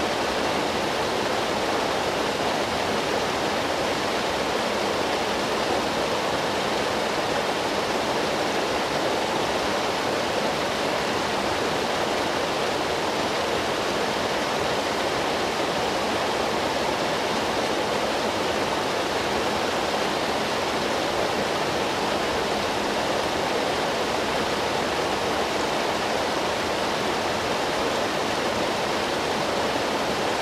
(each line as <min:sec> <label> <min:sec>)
0:00.0 water rushing 0:30.4